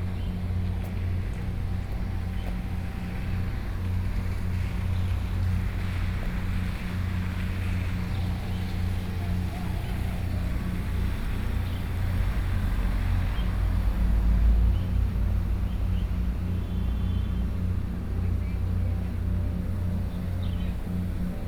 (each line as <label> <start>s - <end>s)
Rainy Day 0.3s - 15.3s